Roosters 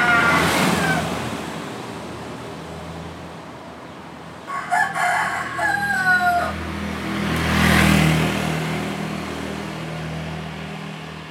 0.0s 1.4s, 4.4s 6.8s

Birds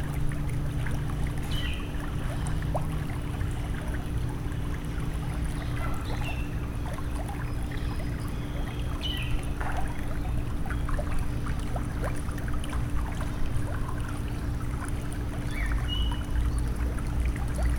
1.4s 2.0s, 5.4s 11.5s, 15.4s 16.8s

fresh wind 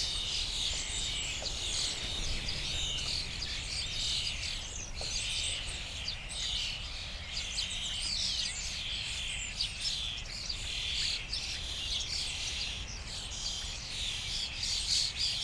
0.0s 6.7s

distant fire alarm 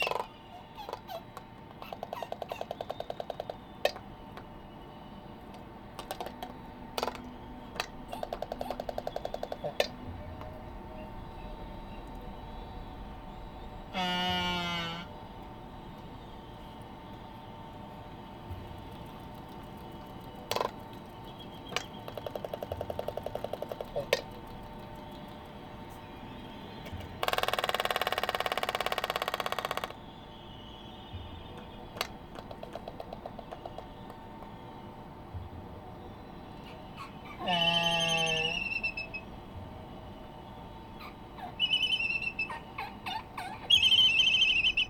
9.2s 19.1s, 26.2s 32.3s

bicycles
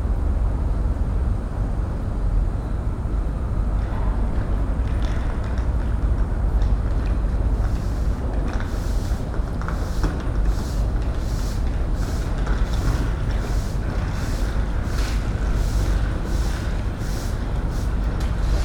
3.8s 18.6s

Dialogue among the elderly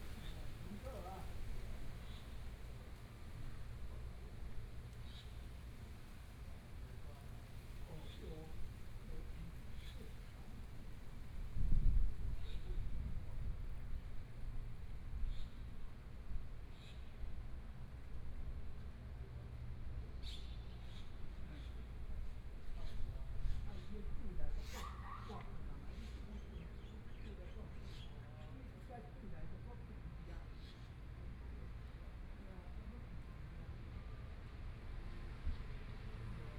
0.0s 4.7s, 7.0s 16.7s, 21.1s 34.2s

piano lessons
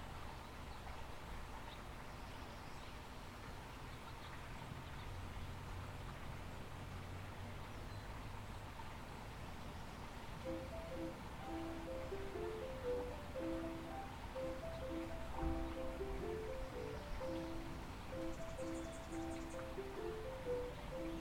10.4s 21.2s

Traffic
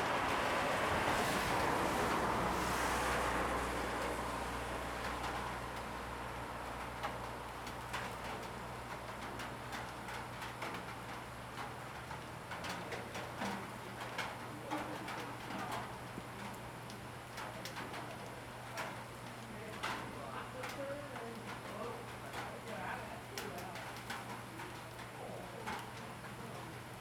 0.0s 7.8s

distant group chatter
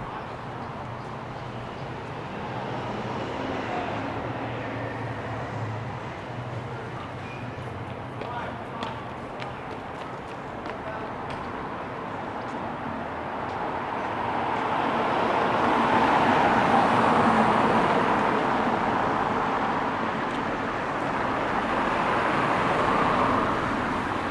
0.0s 11.8s

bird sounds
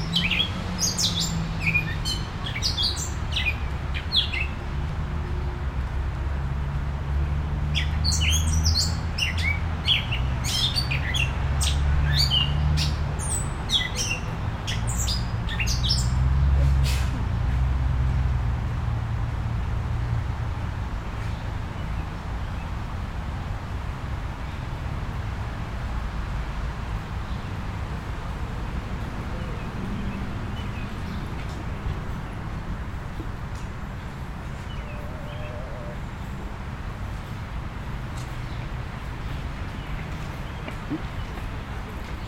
29.0s 36.4s

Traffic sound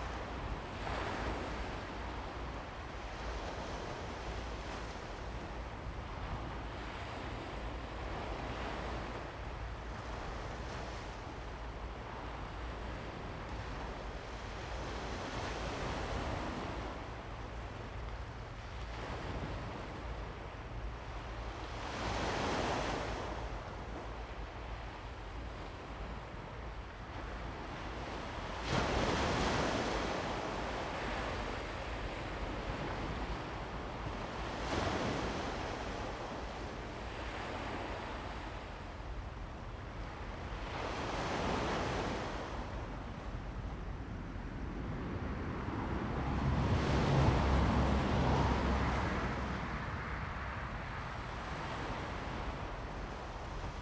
44.7s 52.9s

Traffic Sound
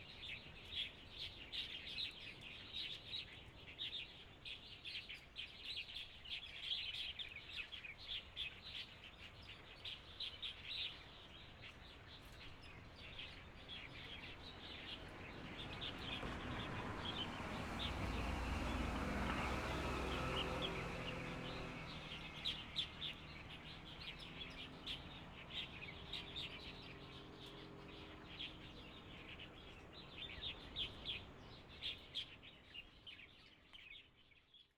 13.4s 32.8s

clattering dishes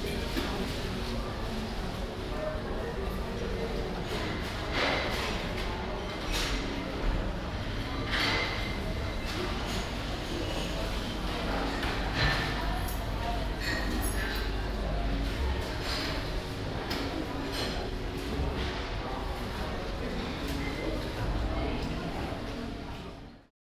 11.7s 14.7s

